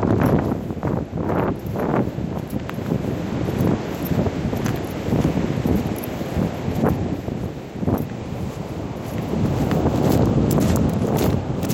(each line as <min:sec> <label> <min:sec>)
0:00.0 wind 0:11.7
0:00.1 footsteps 0:11.7